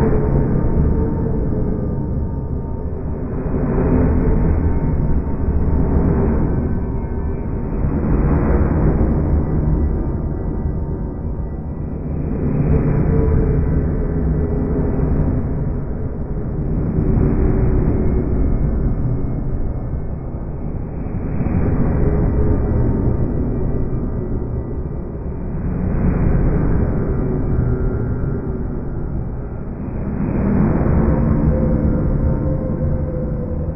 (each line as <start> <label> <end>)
0.0 underground noises 33.7